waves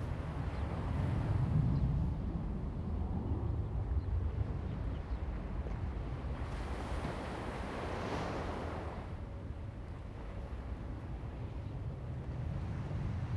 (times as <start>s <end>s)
4.1s 13.3s